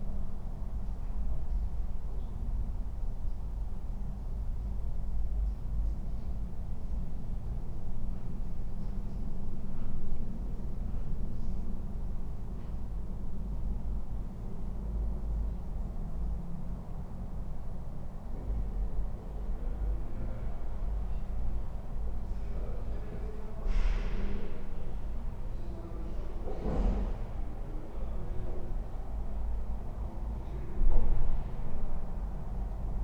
softened sounds of the city 0.0 - 33.0

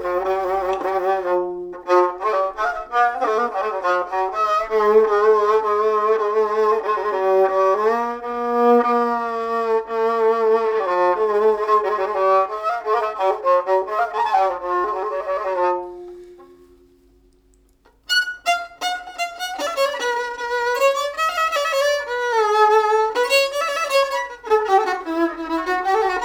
violino 0.0 - 26.2

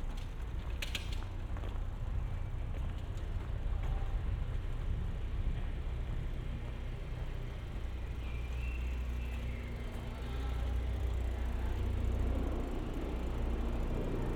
Cycling on the embankment of the Po 3.2 - 14.3

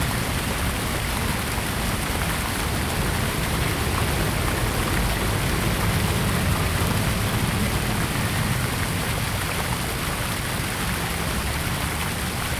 Fountain 0.0 - 12.5
Traffic Sound 0.0 - 12.5

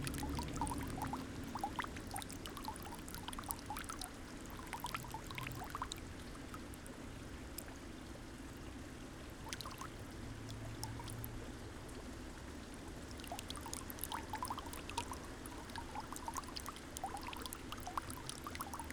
fountain, thin stream 0.0 - 18.9

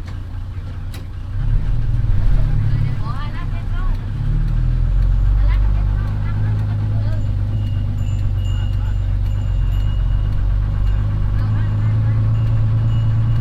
bus 0.0 - 13.4

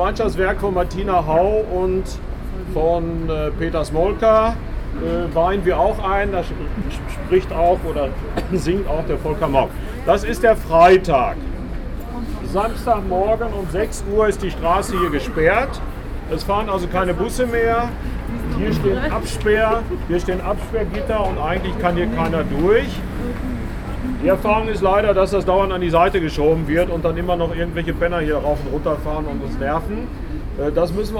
guided tour 0.0 - 31.1

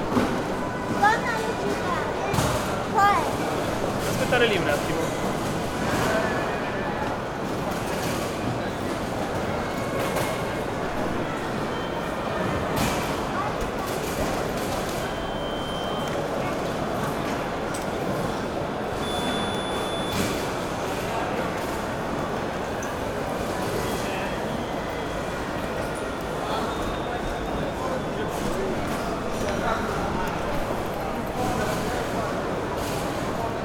safety checks at the gate 14.0 - 21.0

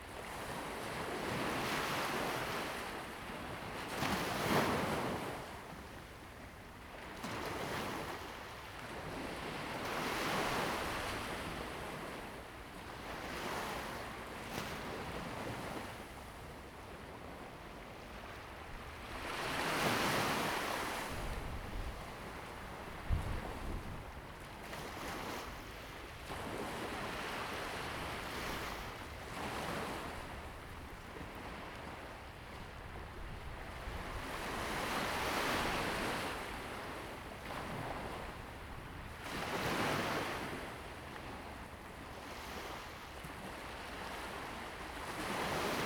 waves 0.0 - 45.8
wind 0.0 - 45.8

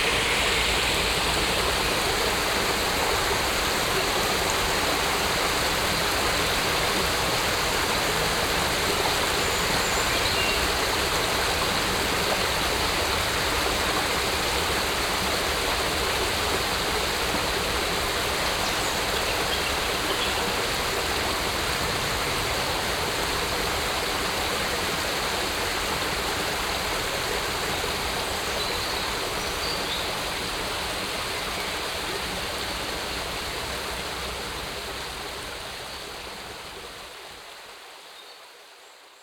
smalll stream Rumbach at a small bridge 0.0 - 39.2

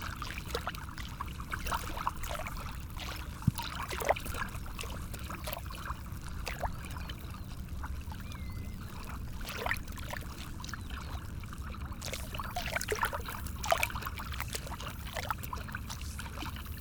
The sea 0.0 - 16.8

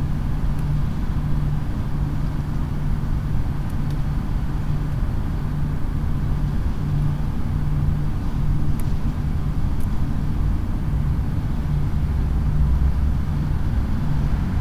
Noise pollution by chemistry building 0.0 - 14.6

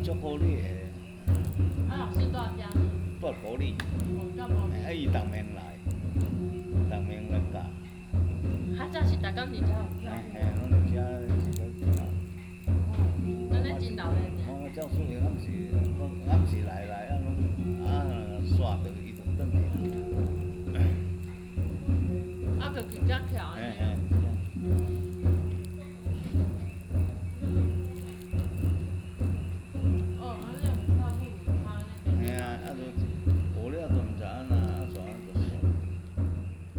Frog sounds 0.0 - 36.7

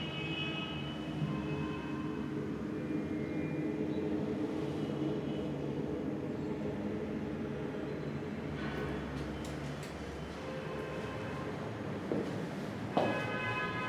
walking through empty apartment 9.9 - 13.8
car horns 13.0 - 13.8

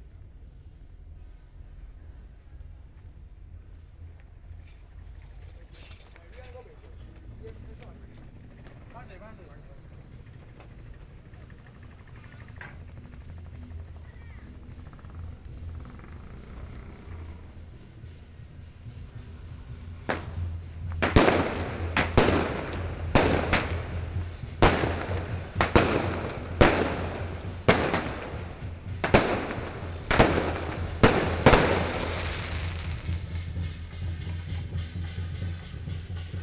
Firework 18.8 - 33.8

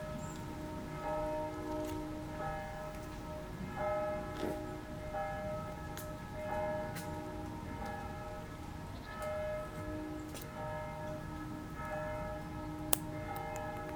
Distant bells 0.0 - 13.9

